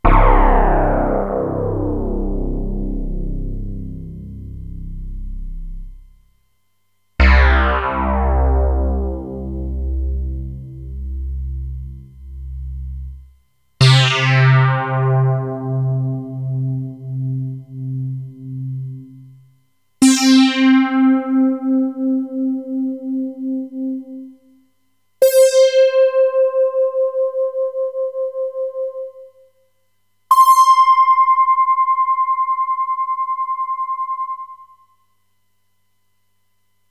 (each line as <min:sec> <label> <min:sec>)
0:00.0 FM Synthesizer 0:06.2
0:07.2 FM Synthesizer 0:19.3